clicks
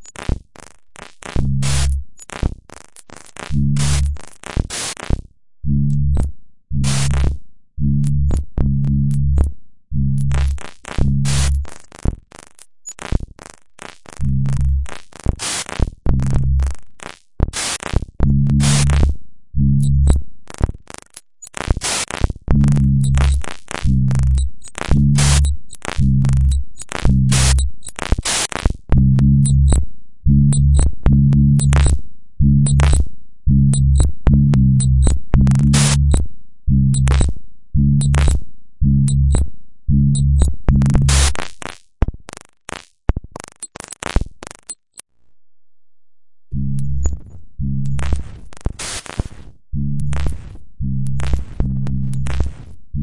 0:00.0 0:05.2, 0:19.8 0:29.8, 0:30.5 0:32.0, 0:32.6 0:33.0, 0:37.0 0:37.3, 0:40.2 0:45.1, 0:46.5 0:52.7

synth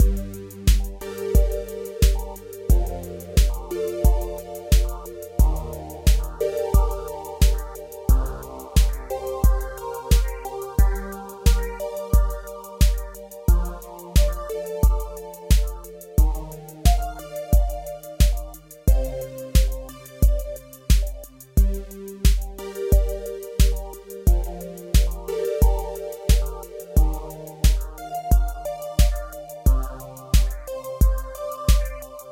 0:00.0 0:20.8

